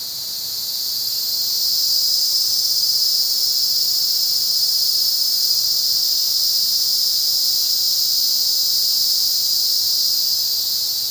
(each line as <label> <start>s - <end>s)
cicadas 0.0s - 11.1s
crickets 0.0s - 11.1s